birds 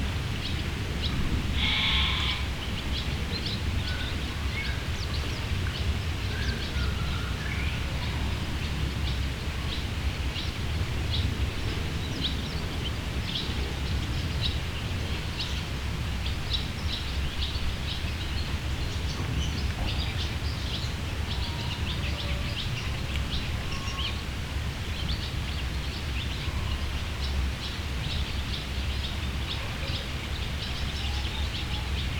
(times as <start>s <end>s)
0.4s 11.2s